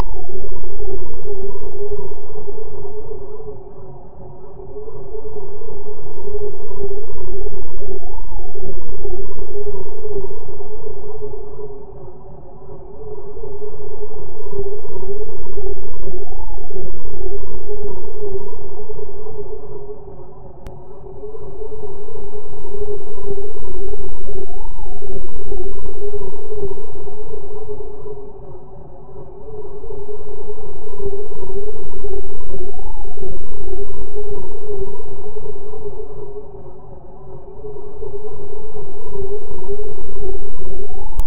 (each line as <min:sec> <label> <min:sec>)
0:00.0 Modulated sinus wave 0:41.2